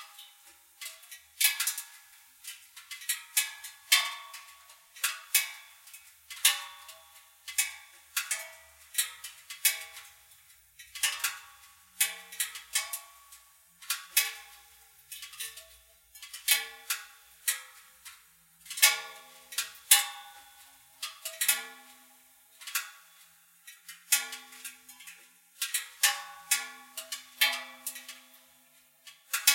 0.1s CoolingMetalClicks 21.9s
22.5s CoolingMetalClicks 28.5s
29.1s CoolingMetalClicks 29.5s

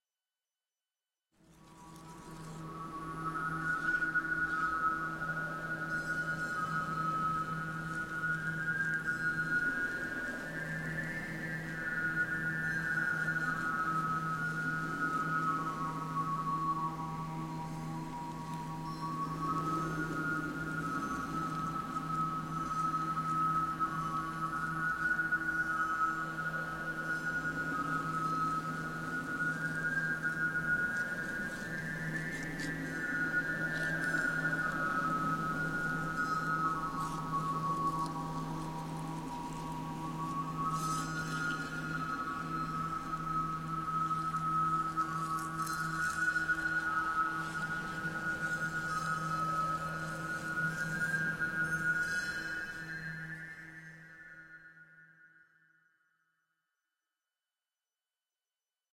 1.3s wind 55.5s
1.4s chimes 56.4s

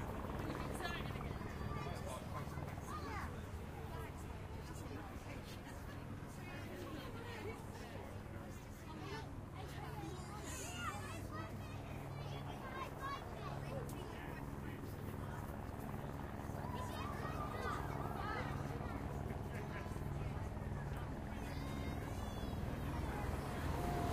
0.0s Crowd 24.1s
14.4s Police motorcyclists getting the crowd going 24.1s
14.6s Olympics vehicles 24.1s
20.8s Womens Cyclists pass 24.1s

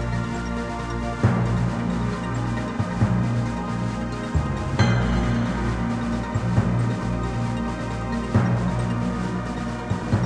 4.8s jingle 6.8s

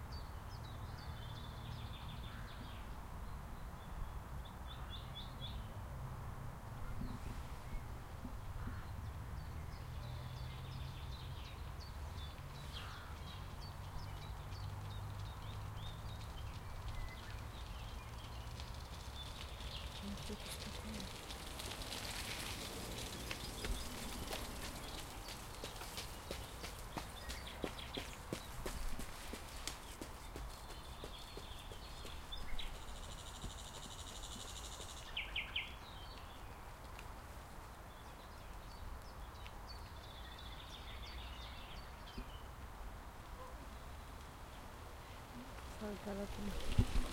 6.8s other birds 36.9s
8.6s nightingale which singing near the river 21.2s
22.6s nightingale which singing near the river 36.9s
37.8s nightingale which singing near the river 42.6s
43.3s other birds 47.1s

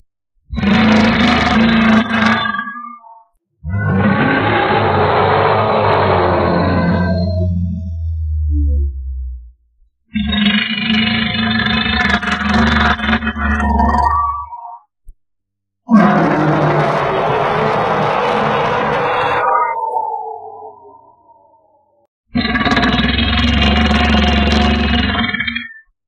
0.5s monster 8.8s
10.1s monster 14.6s
15.9s monster 25.6s

